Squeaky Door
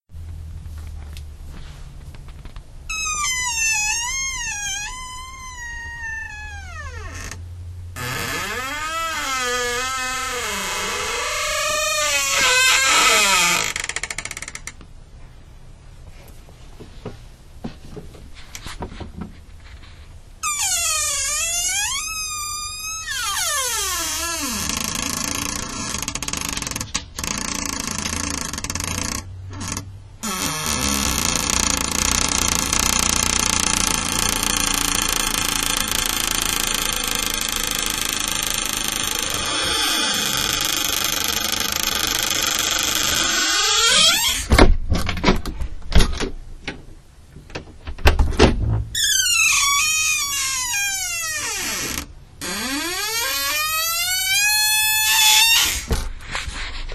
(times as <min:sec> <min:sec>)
0:02.9 0:07.4, 0:08.0 0:14.7, 0:20.4 0:46.3, 0:47.8 0:56.1